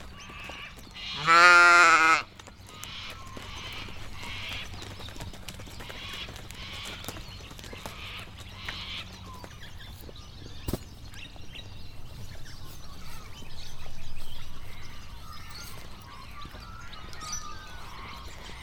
0.0s chickens 18.6s
0.0s squawking birds 18.6s
0.0s various parrots 18.6s

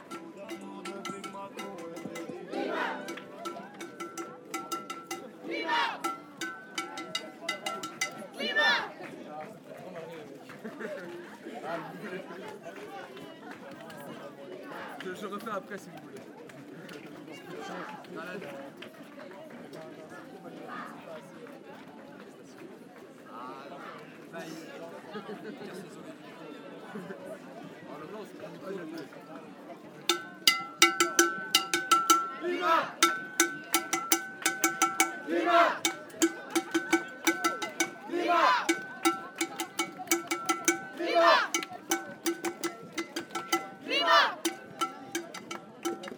2.5s 3000 young people shouting 3.2s
5.4s 3000 young people shouting 6.2s
32.1s 3000 young people shouting 33.6s
35.0s 3000 young people shouting 39.9s
40.6s 3000 young people shouting 42.1s
43.6s 3000 young people shouting 44.6s

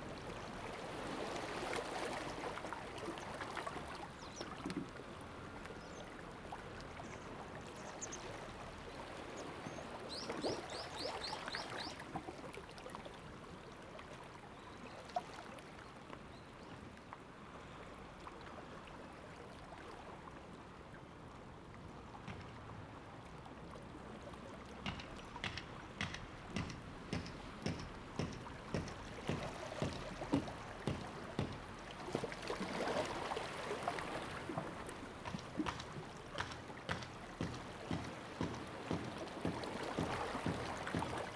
0.0s Sound tide 19.9s
21.2s Sound tide 41.3s

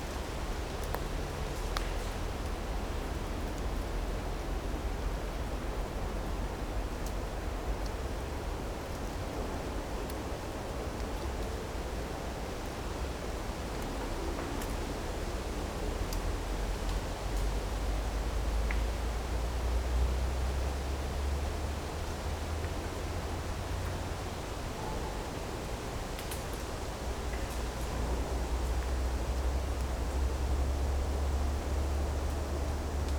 0.0s wind playing among trees 33.1s

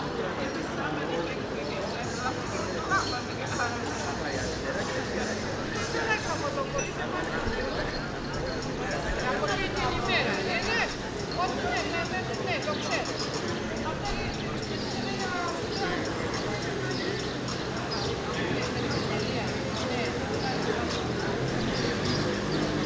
0.0s Music is coming from the nearby coffee shops 22.8s
0.0s People talking 22.8s

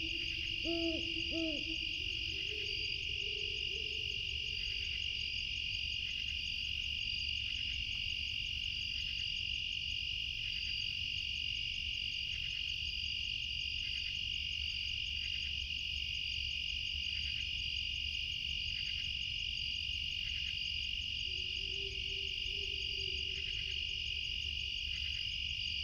0.0s great horned owls 5.0s
0.0s insect drone 25.8s
21.2s great horned owls 24.0s

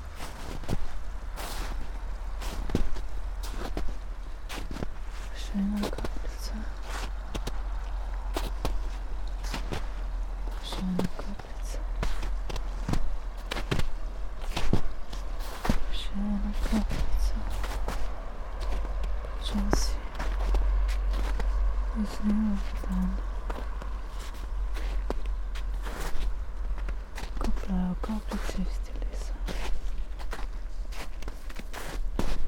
0.0s distant traffic noise 32.4s
0.0s small stream 32.4s
0.0s snow 32.4s
5.3s spoken words 6.7s
10.6s spoken words 11.8s
15.9s spoken words 17.5s
19.4s spoken words 20.0s
21.9s spoken words 23.2s
27.4s spoken words 29.4s

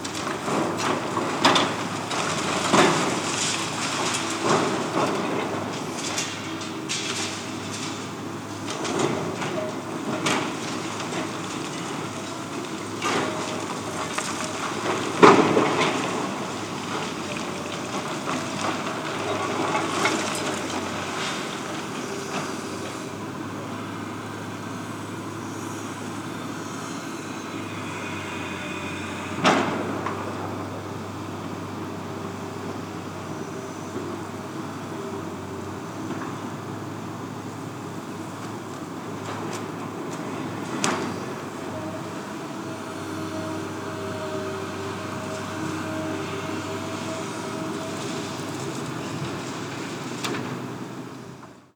0.0s deconstruction 51.7s

